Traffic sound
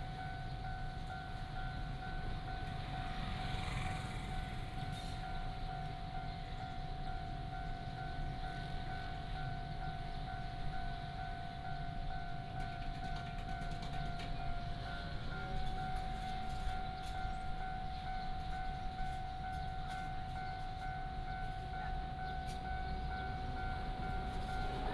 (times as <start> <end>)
0.1 6.7, 12.8 24.9